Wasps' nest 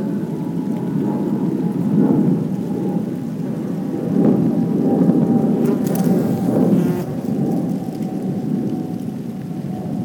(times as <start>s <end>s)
5.6s 8.6s